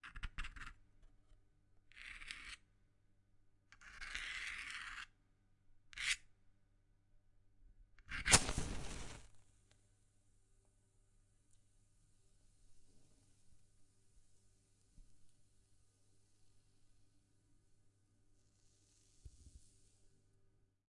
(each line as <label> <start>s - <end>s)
light a match 8.1s - 9.3s